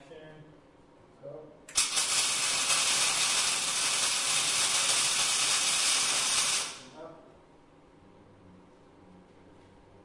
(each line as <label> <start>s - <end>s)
mig weld 1.7s - 7.0s